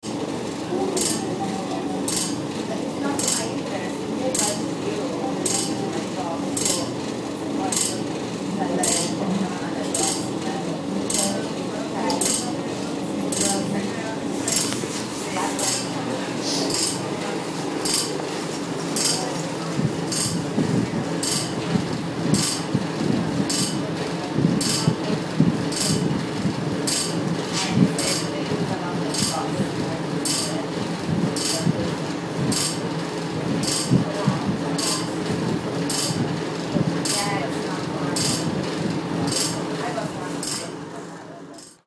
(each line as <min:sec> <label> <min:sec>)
0:00.0 Vibrating heater above the door 0:41.8